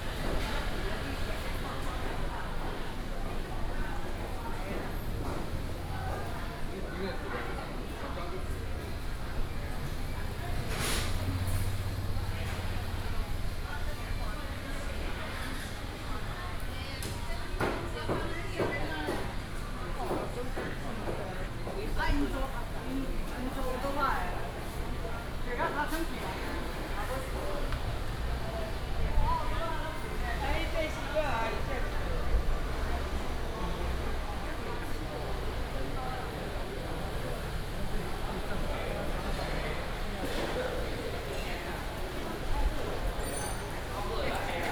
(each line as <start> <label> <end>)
7.4 Traffic sound 16.7
20.0 Traffic sound 44.7